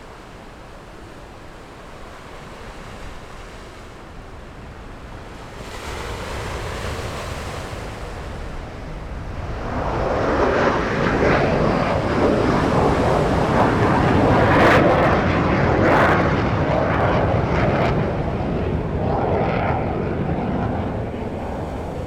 waves 0:00.0 - 0:22.0

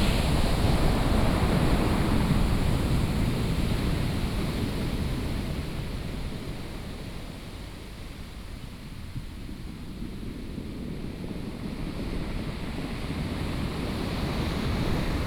waves 0:12.6 - 0:15.2

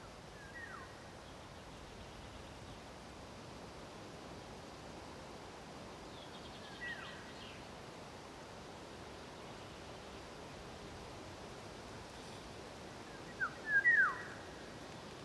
Birch and beach leaves hiss in the breeze 0:00.0 - 0:15.2
chaffinch sings in the distance 0:00.3 - 0:03.0
chaffinch sings in the distance 0:05.9 - 0:07.8
chaffinch sings in the distance 0:13.0 - 0:15.2

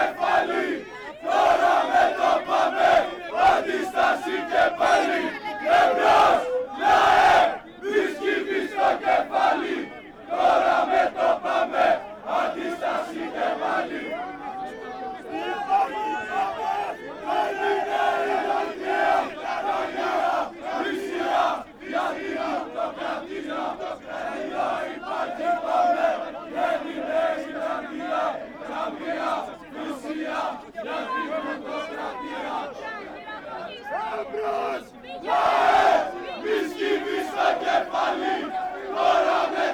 Protesters 0:00.0 - 0:39.7

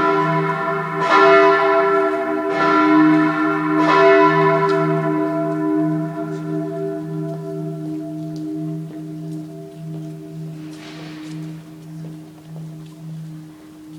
church bell of the dome 0:00.0 - 0:13.9
church bells from surrounding churches ring 0:00.0 - 0:13.9

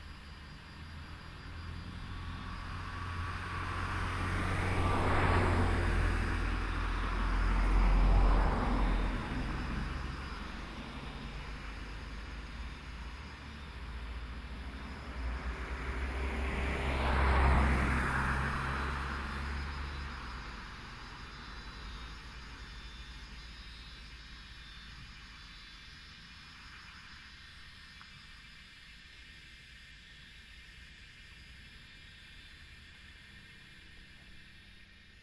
Cicadas sound 0:00.0 - 0:35.2
Traffic Sound 0:01.4 - 0:22.6

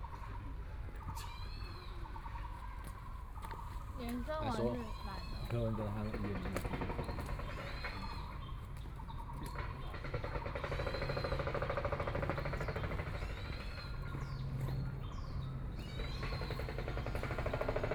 Birdsong 0:00.0 - 0:17.9
Construction noise 0:09.5 - 0:17.9

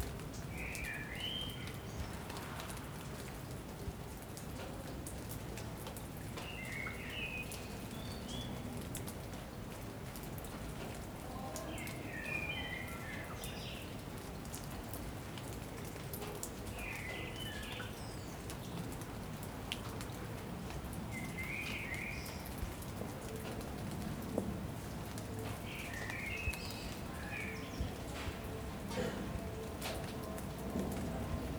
Sparse rain 0:00.0 - 0:31.5

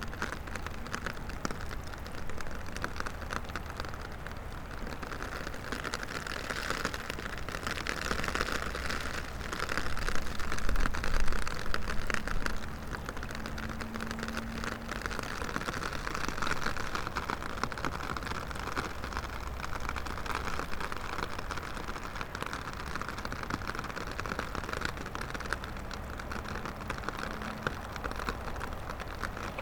rain drops from umbrella onto surface of water 0:00.0 - 0:29.6
river 0:00.0 - 0:29.6

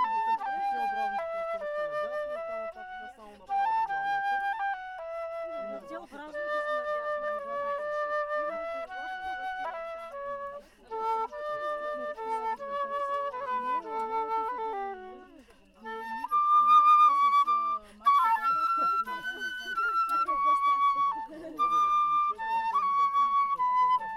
One lady plays the flute 0:00.0 - 0:24.1
night sounds of the crickets 0:00.0 - 0:24.0
camping fire 0:00.0 - 0:24.1

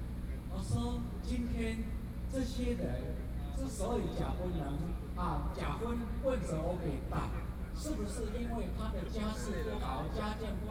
Speech 0:00.2 - 0:10.7

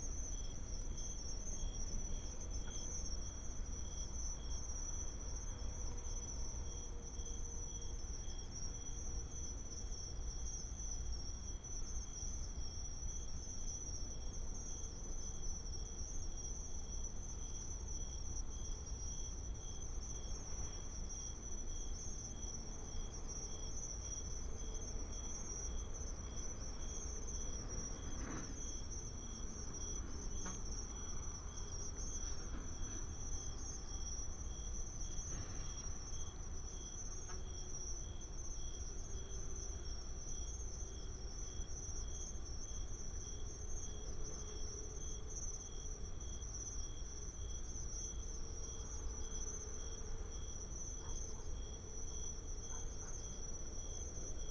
Insects 0:00.0 - 0:54.5

